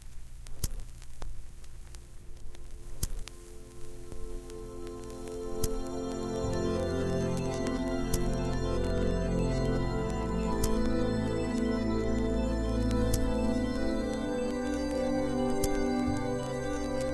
digital piece of music 0:02.6 - 0:17.1

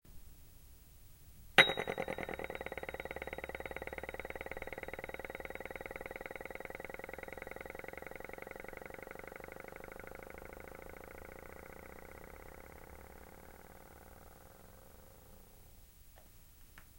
rocking cup 0:01.6 - 0:15.0

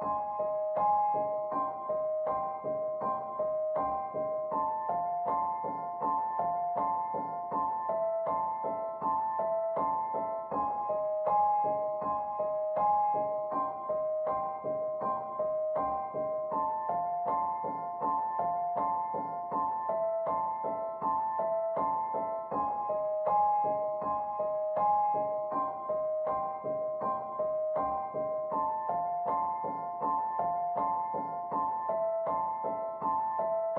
piano 0:00.0 - 0:33.7

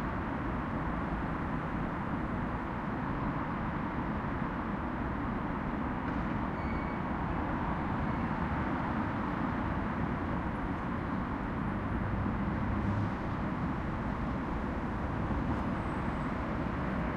traffic 0:00.0 - 0:17.1

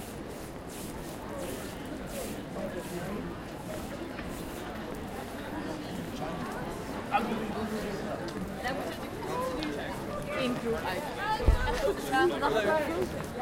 conversation 0:05.8 - 0:13.4

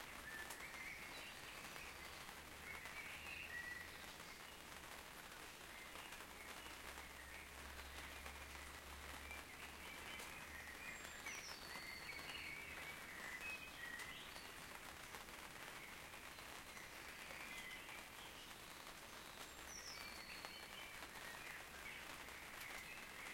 Soft Rain on a Tent 0:00.0 - 0:23.3
Bird Singing 0:09.3 - 0:14.5

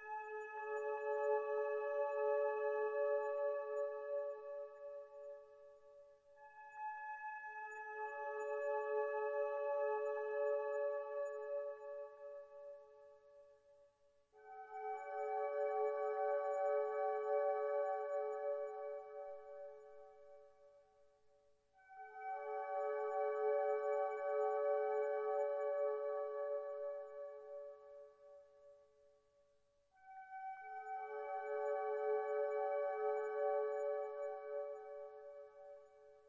synthesizer 0:00.0 - 0:13.7
synthesizer 0:14.3 - 0:21.1
synthesizer 0:21.7 - 0:28.8
synthesizer 0:29.9 - 0:36.2

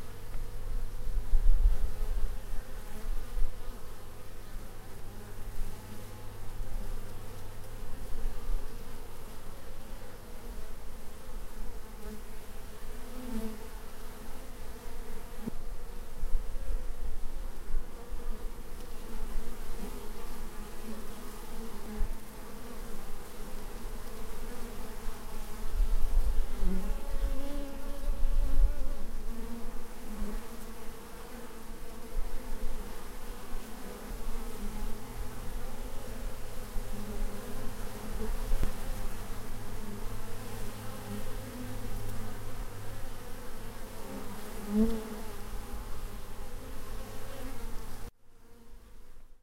bees 0:00.0 - 0:49.2

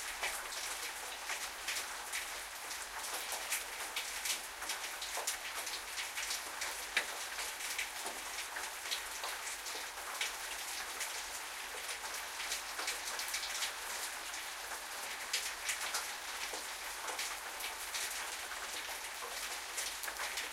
City rain 0:00.0 - 0:20.5

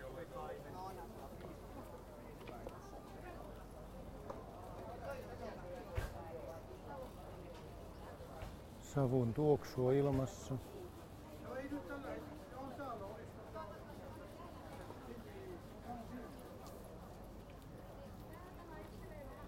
Bicycle 0:10.1 - 0:19.4

